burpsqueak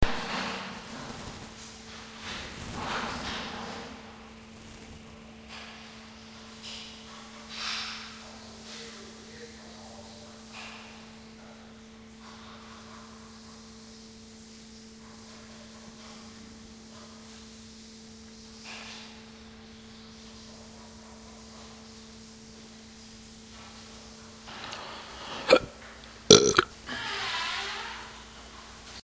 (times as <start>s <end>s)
25.4s 25.7s, 26.3s 28.2s